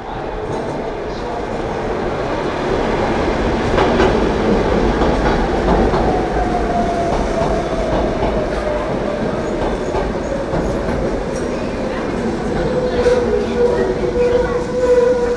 S-train arrives, and stops at the platform 0:00.0 - 0:15.3
S-train departs 0:00.0 - 0:15.3

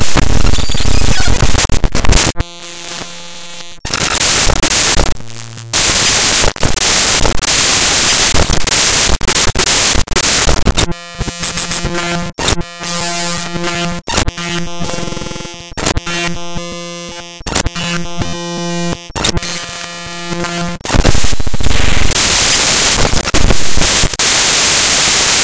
glitches 0:00.0 - 0:18.2
glitches 0:18.8 - 0:25.4

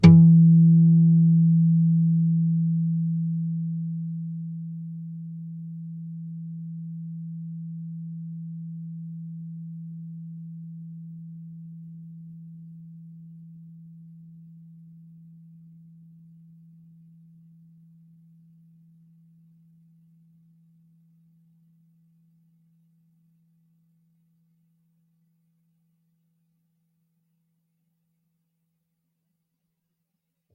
nylon guitar 0:00.0 - 0:02.9

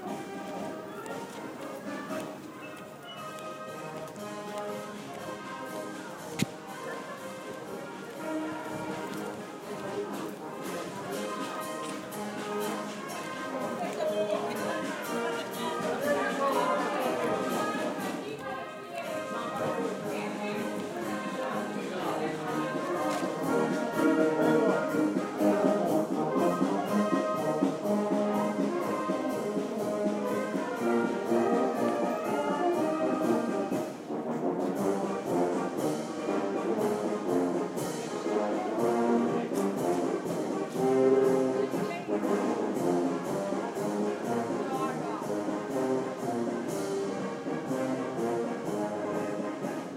walking 0:00.0 - 0:43.6
marching band 0:00.0 - 0:49.9

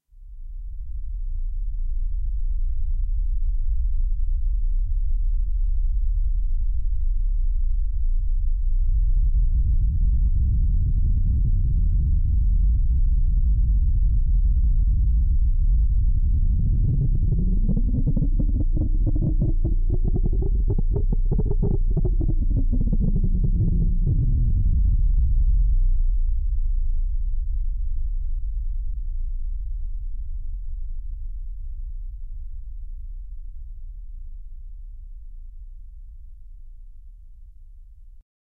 rumble 0:00.0 - 0:38.2

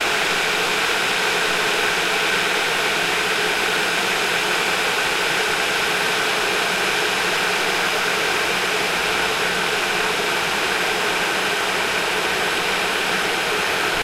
electric boiler going at full strength heating the water 0:00.0 - 0:14.0

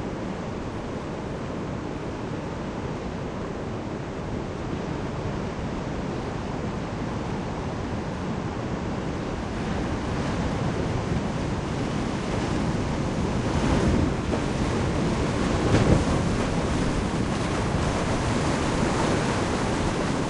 big-waves-at-anchors 0:00.0 - 0:20.2

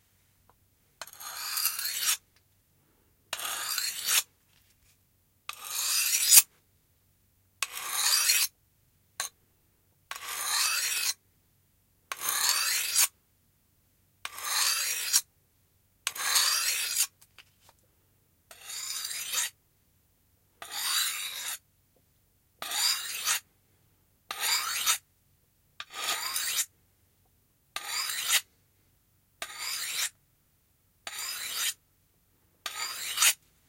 knife blade being sharpened 0:01.0 - 0:02.2
knife blade being sharpened 0:03.4 - 0:04.2
knife blade being sharpened 0:05.5 - 0:06.5
knife blade being sharpened 0:07.6 - 0:08.5
knife blade being sharpened 0:10.2 - 0:11.2
knife blade being sharpened 0:12.1 - 0:13.1
knife blade being sharpened 0:14.3 - 0:15.2
knife blade being sharpened 0:16.1 - 0:17.1
knife blade being sharpened 0:18.5 - 0:19.5
knife blade being sharpened 0:20.6 - 0:21.6
knife blade being sharpened 0:22.6 - 0:23.4
knife blade being sharpened 0:24.3 - 0:25.0
knife blade being sharpened 0:25.8 - 0:26.7
knife blade being sharpened 0:27.8 - 0:28.4
knife blade being sharpened 0:29.4 - 0:30.1
knife blade being sharpened 0:31.1 - 0:31.8
knife blade being sharpened 0:32.6 - 0:33.4

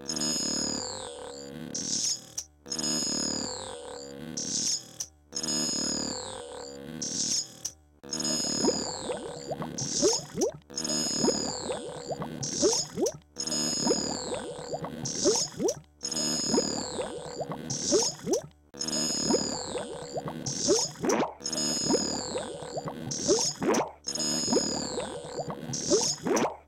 water 0:08.4 - 0:18.5
water 0:19.1 - 0:26.6

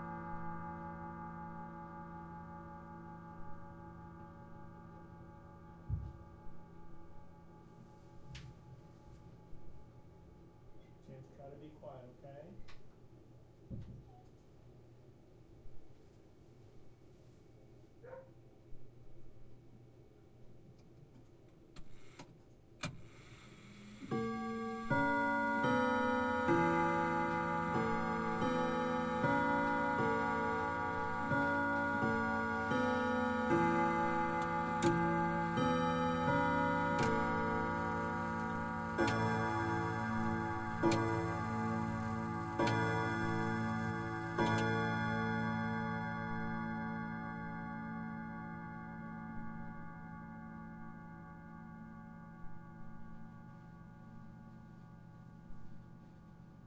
Westminster chimes 0:00.0 - 0:09.5
Westminster chimes 0:24.1 - 0:56.6

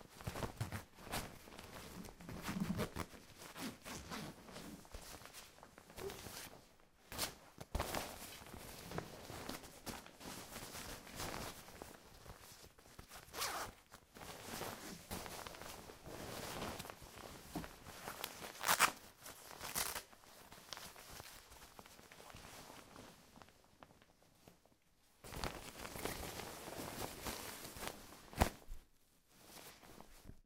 opening and closing zippers and buttons of a jacket 0:13.2 - 0:13.8

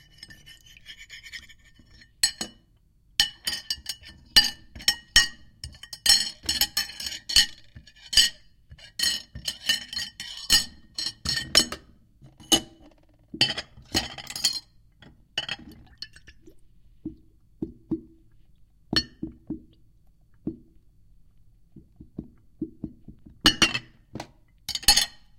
water 0:00.0 - 0:02.0
Dishes I moved around in the sink and against eachother 0:00.0 - 0:16.3
water 0:15.0 - 0:23.6
Dishes I moved around in the sink and against eachother 0:18.9 - 0:19.7
Dishes I moved around in the sink and against eachother 0:23.4 - 0:25.3

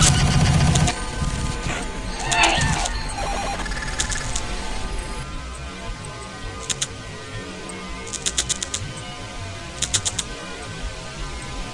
pads 0:00.0 - 0:09.2

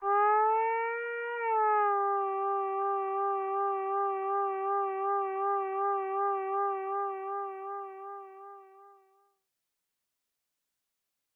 falling synth 0:00.0 - 0:09.0

